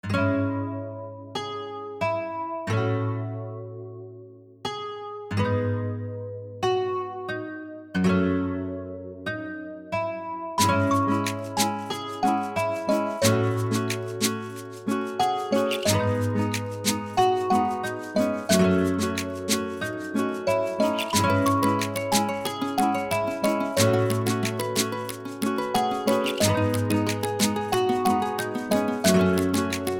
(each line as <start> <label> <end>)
0.0 Guitare 29.9
15.6 Xylophone 29.9